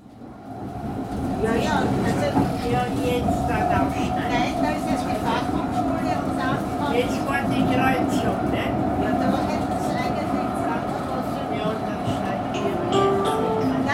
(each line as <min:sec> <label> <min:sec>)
0:00.0 Tram Journey 0:13.9